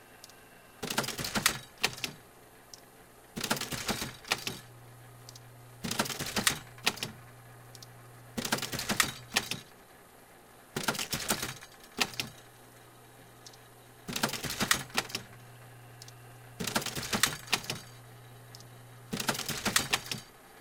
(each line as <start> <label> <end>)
0.2 click 0.4
5.3 click 5.5
7.7 click 7.9
13.4 click 13.6
16.0 click 16.2
18.5 click 18.7